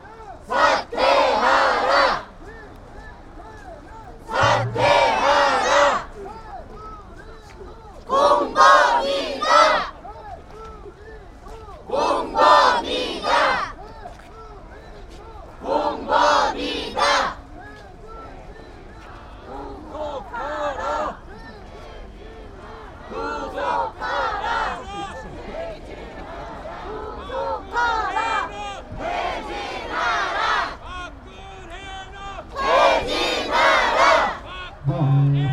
voices of the crowd chanting and calling out 0:00.0 - 0:35.5

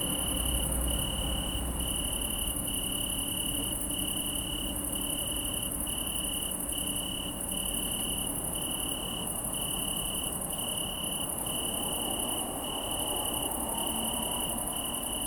Italian tree cricket (Oecanthus pellucens) 0:00.0 - 0:15.2
hum is coming from the highway bellow 0:00.0 - 0:15.2

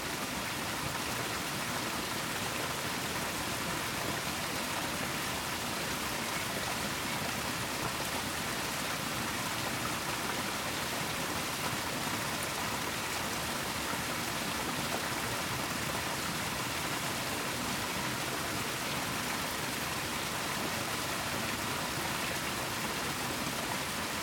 waterflow under the old watermill 0:00.0 - 0:24.2

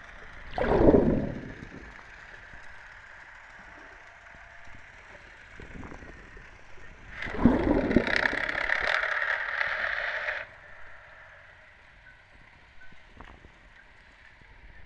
underwater vibrations of boat traffic 0:00.4 - 0:02.8
underwater vibrations of boat traffic 0:07.0 - 0:11.0

